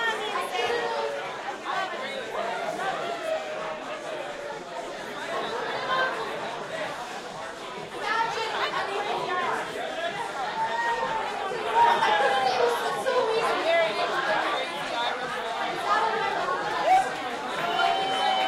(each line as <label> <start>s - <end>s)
Club bar crowd singing Happy Birthday 0.0s - 18.4s
various cheers after 16.6s - 18.4s